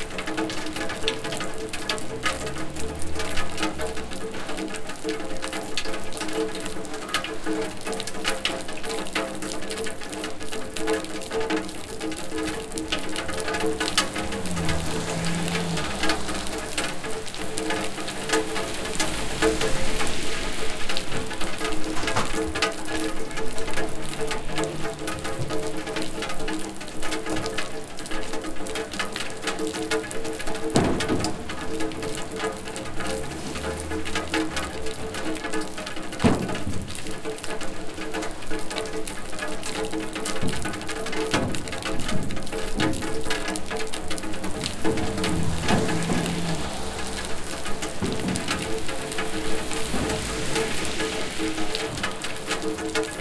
rain through rainwater down pipe 0:00.0 - 0:53.2

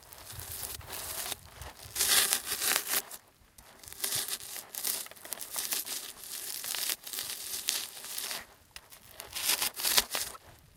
Grinding a large styrofoam block with a rock 0:00.0 - 0:10.6

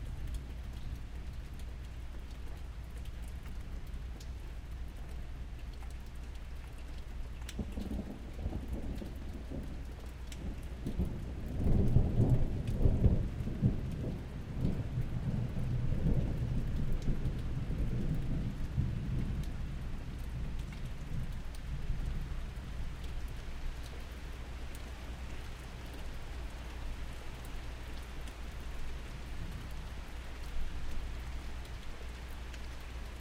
Thunder Claps 0:07.6 - 0:20.5

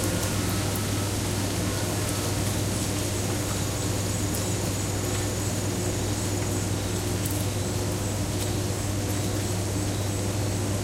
church bells 0:00.0 - 0:02.5
bells from another church join in 0:00.0 - 0:02.7
cricket 0:00.0 - 0:10.8
rain 0:00.0 - 0:10.8

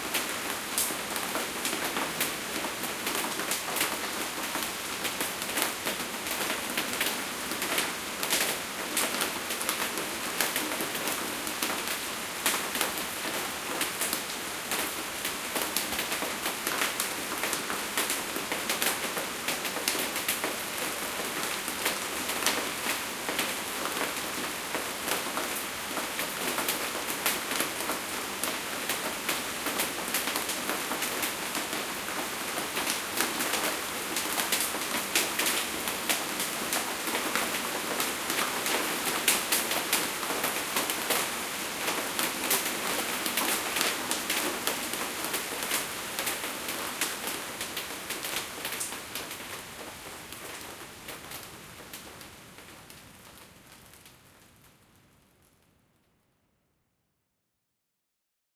Rain On Fiber Roof 0:00.0 - 0:56.2

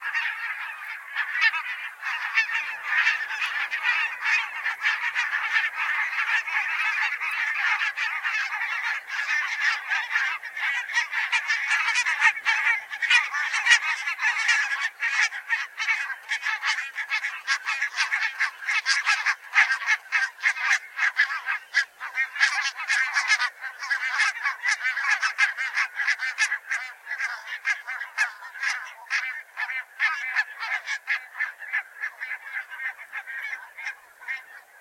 Barnacle geese flying close by 0:00.0 - 0:34.8

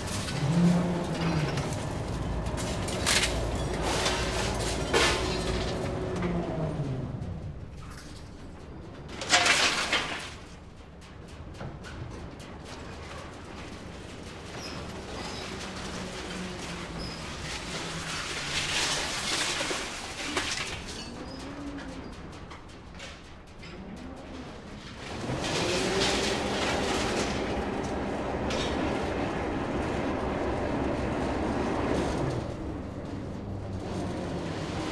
crane collecting the metal waste and loading it onto a ship 0:00.0 - 0:34.9

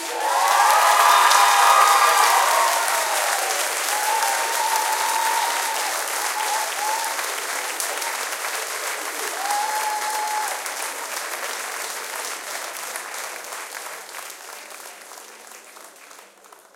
cheering 0:00.0 - 0:13.8
Small audience clapping 0:00.0 - 0:16.7

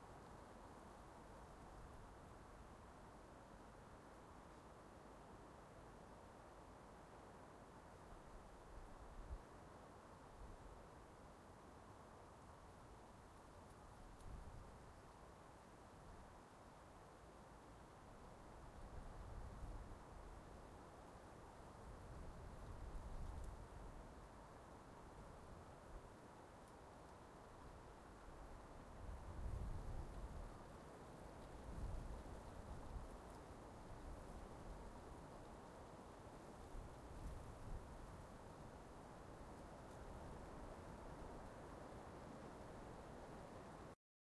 wind 0:00.0 - 0:44.0

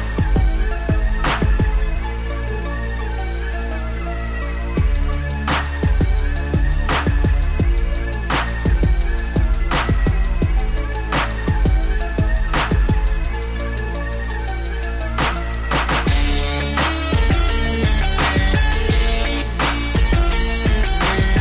guitar 0:16.1 - 0:21.4

